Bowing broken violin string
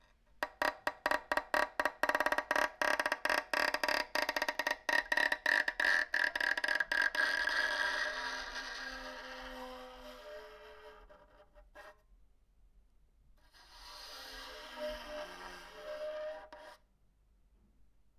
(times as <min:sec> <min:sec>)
0:00.4 0:11.4